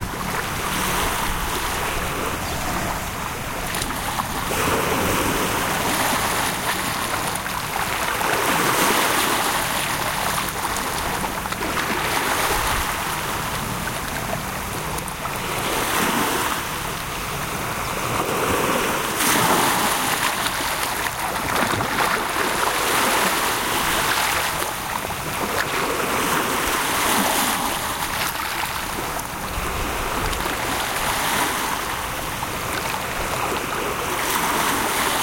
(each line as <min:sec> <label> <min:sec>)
0:00.0 calm waves 0:35.2